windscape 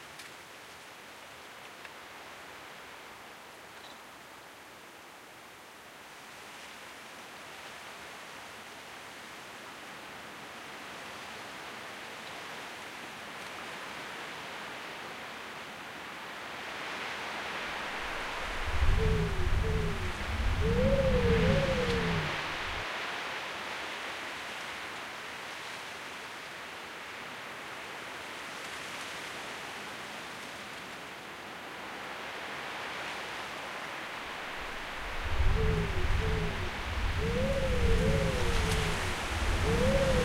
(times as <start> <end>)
16.7 24.6, 31.8 40.2